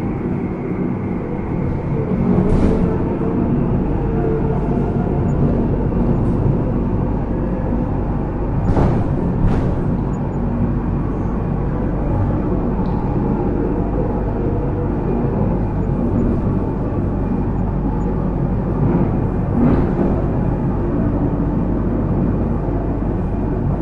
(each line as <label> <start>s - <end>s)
small train 0.0s - 23.8s